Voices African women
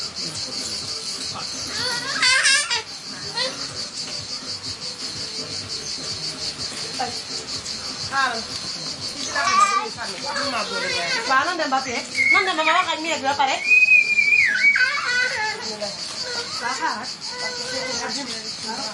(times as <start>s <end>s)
5.2s 18.9s